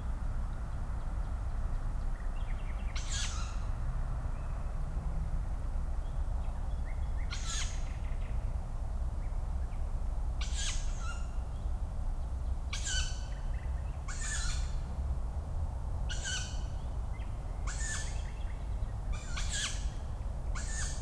12.8s young Tawny owls calling 13.2s
20.6s young Tawny owls calling 21.0s

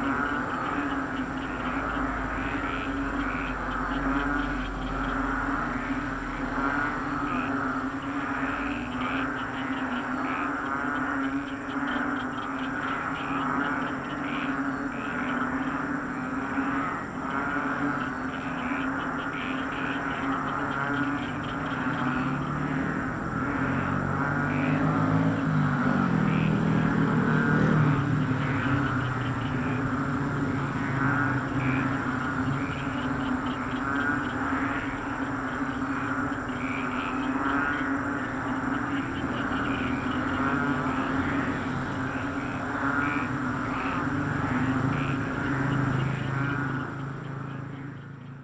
0.0s cars 48.4s
0.0s frogs in the field 48.4s
0.0s motorcycles 48.4s

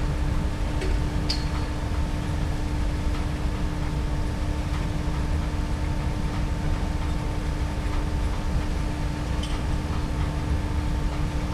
0.0s large animal food factory drone 11.5s

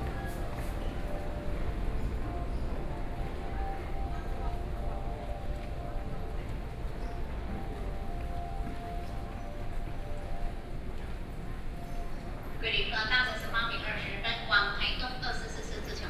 0.0s crowd of passengers 16.0s
12.6s Station broadcast messages 16.0s

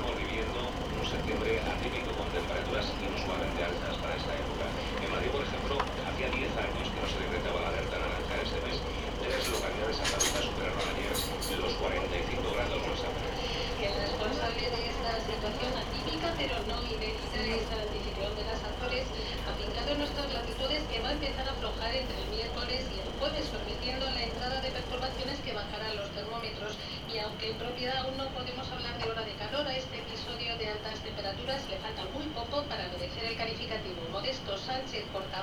0.0s car departing 25.6s
0.0s radio playing 31.5s

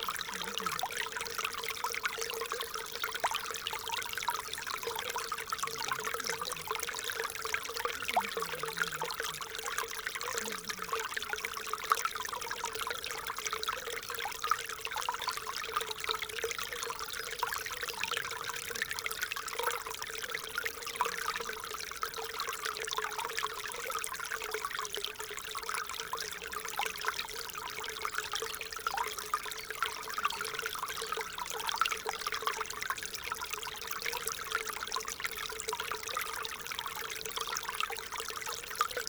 0.0s small Ry Pirot stream 39.0s

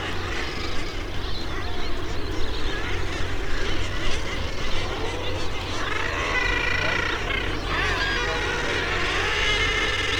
0.0s background noise from people 10.1s
0.0s bird calls from kittiwakes 10.1s
0.0s boats 10.1s
2.6s nesting guillemots 10.1s

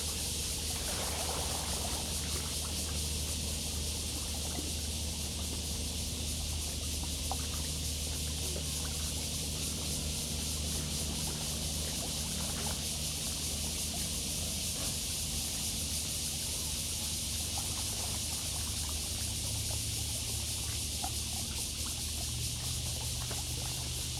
0.0s Acoustic wave water 24.1s
0.0s Cicadas cry 24.1s
0.0s boats on the river 24.1s

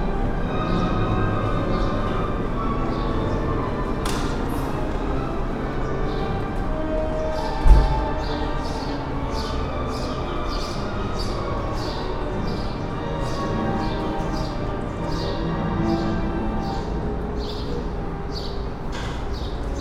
0.0s Orchestra concert 19.8s
0.0s birds 19.8s
0.0s pedestrians 19.8s
0.0s street traffic 19.8s

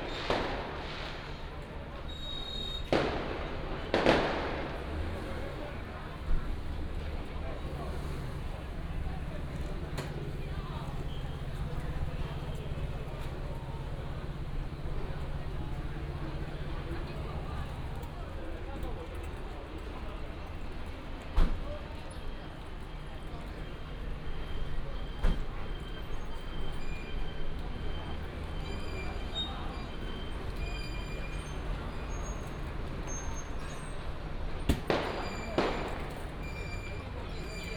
0.0s fireworks 18.2s
0.0s Firecrackers 18.4s
0.0s Traffic sound 37.7s
28.1s Firecrackers 37.7s
34.6s fireworks 37.7s

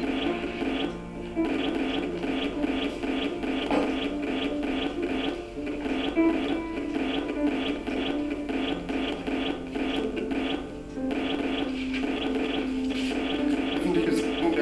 0.0s television interference 14.6s

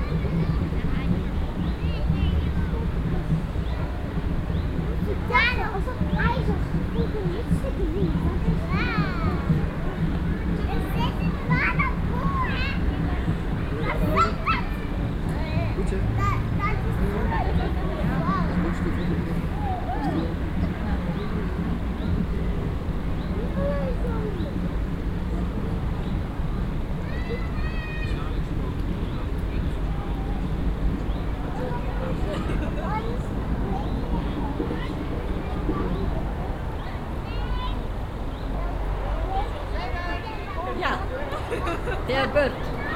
0.0s dutch tourist family 42.9s
0.0s talking passengers 42.9s

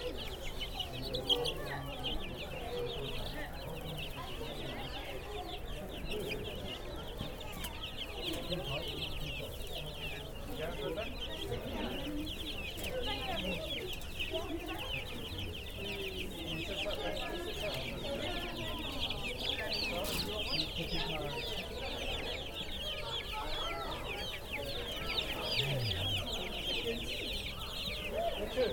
0.0s many chicks in a small pen 28.7s

